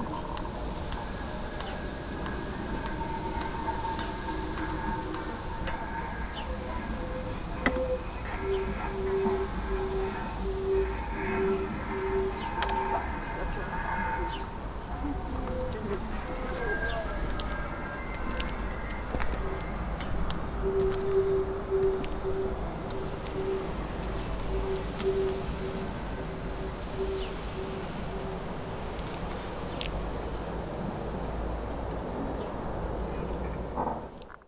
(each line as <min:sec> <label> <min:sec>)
0:00.0 gardening tools 0:08.8